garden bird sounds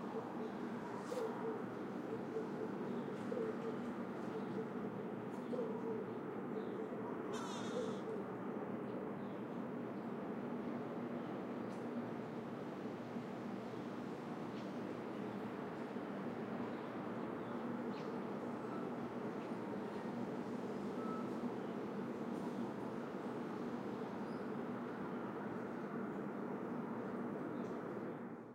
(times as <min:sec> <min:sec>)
0:00.0 0:10.2